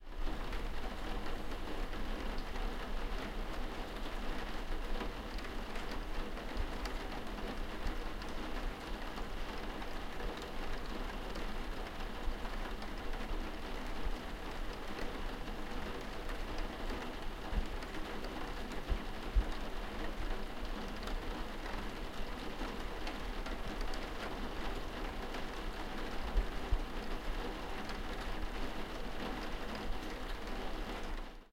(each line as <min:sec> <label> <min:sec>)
0:00.2 rain hitting a skylight window 0:31.4